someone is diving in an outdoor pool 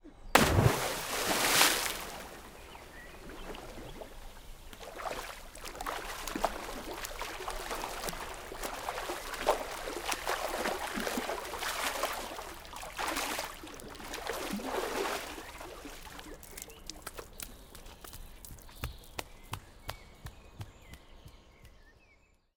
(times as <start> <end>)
0.1 16.4